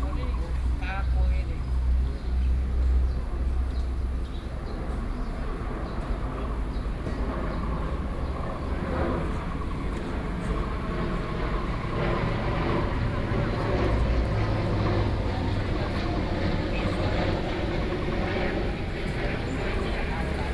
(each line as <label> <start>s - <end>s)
Birds sound 0.0s - 20.5s
Aircraft flying through 7.2s - 20.5s
Traffic Sound 8.0s - 20.5s